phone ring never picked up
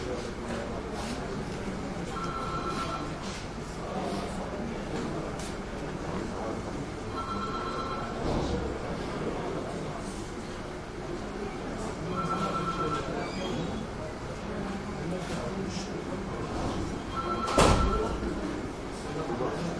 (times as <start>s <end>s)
2.1s 3.2s, 7.1s 8.2s, 12.1s 13.1s, 17.1s 18.2s